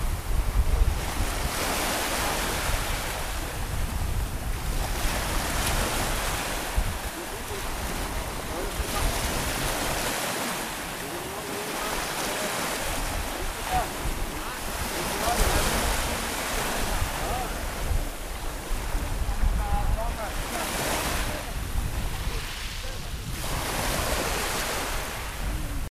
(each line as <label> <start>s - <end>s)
Waves 0.0s - 25.9s